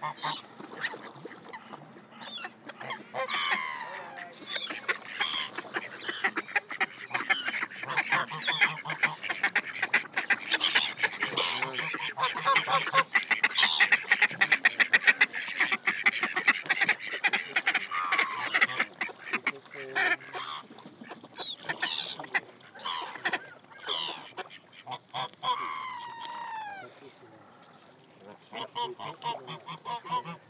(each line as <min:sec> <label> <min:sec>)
0:00.0 birds 0:27.7